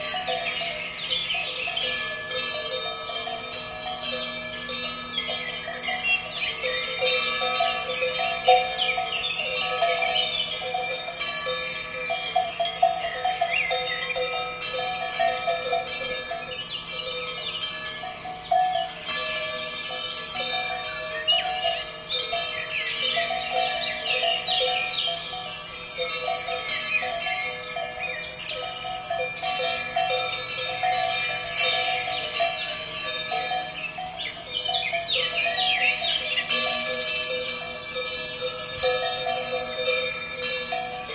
0.0s Cow Bells 41.1s

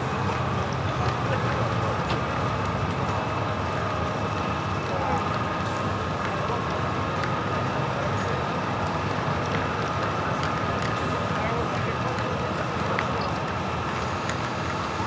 0.0s Train Station Sounds 15.0s

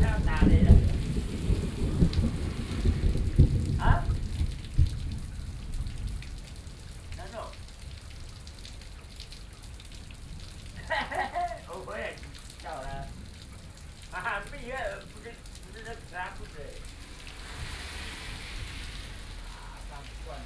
0.0s Thunderstorm 8.4s
0.0s Traffic Sound 8.8s
10.1s Thunderstorm 20.4s
11.3s Traffic Sound 20.4s

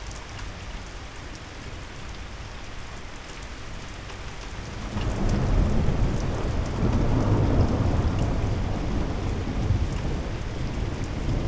4.7s moderate thunderstorm 11.4s

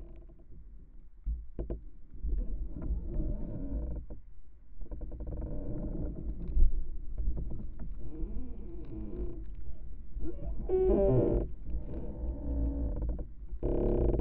4.9s creaking winter tree 14.2s

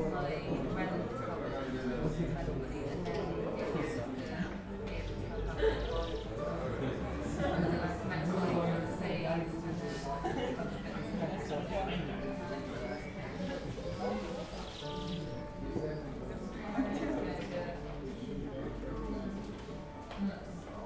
0.0s people sitting 20.8s

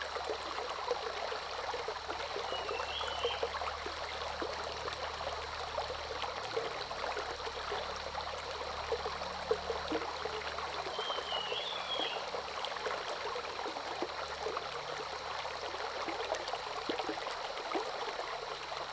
0.0s Brook 18.9s
2.5s Bird calls 3.4s
10.9s Bird calls 12.3s

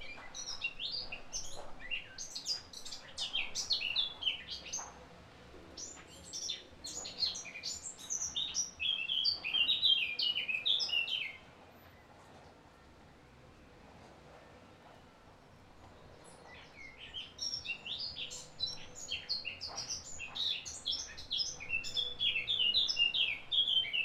0.0s Bird singing 5.0s
5.8s Bird singing 11.5s
16.2s Bird singing 24.0s

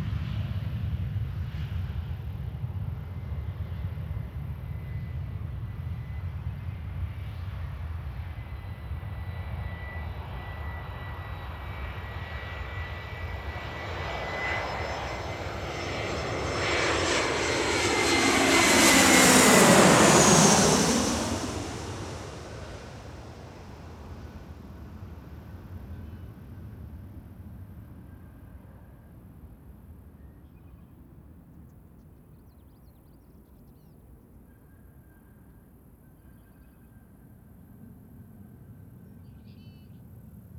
0.0s Aircraft 40.5s
0.0s Planes departing 34.6s
30.2s noisy birds 34.8s

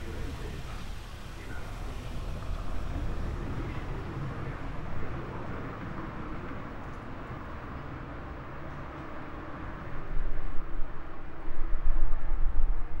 0.0s traffic 13.0s

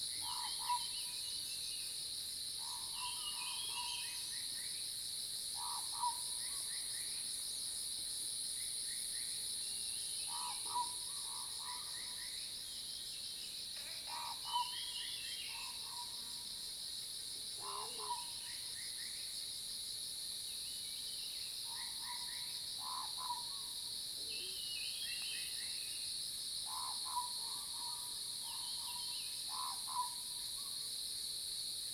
0.0s Cicadas cry 31.9s
5.6s Frog sounds 6.3s
10.3s Frog sounds 12.2s
13.8s Frog sounds 14.9s
17.6s Frog sounds 18.4s
22.8s Frog sounds 23.7s
26.7s Frog sounds 30.3s

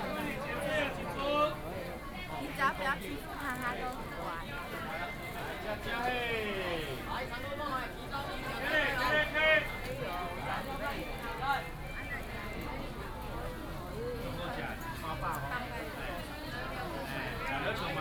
0.0s Walking in the traditional market 18.0s

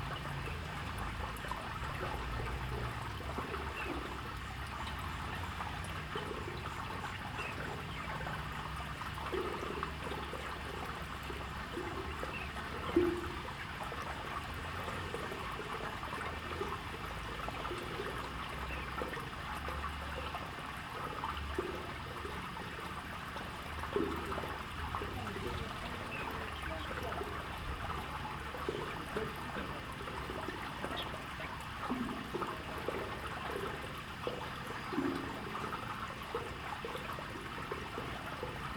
3.4s Birds sound 14.2s
23.9s Birds sound 38.5s

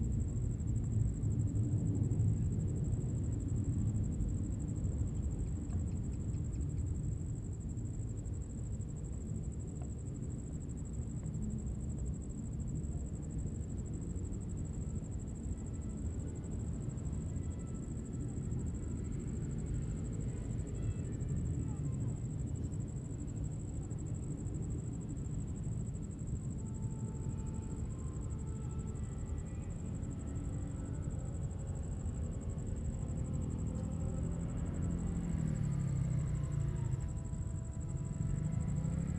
26.5s aircraft flying 39.1s

